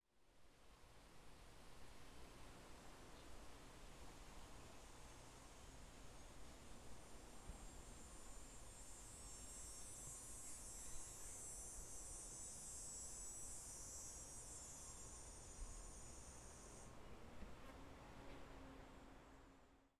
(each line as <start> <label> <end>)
3.2 cicadas 17.0